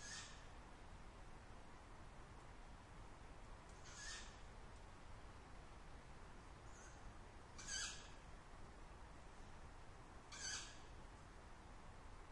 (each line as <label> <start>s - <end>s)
owl 0.0s - 0.6s
owl 3.8s - 4.5s
owl 6.6s - 8.3s
owl 10.3s - 11.0s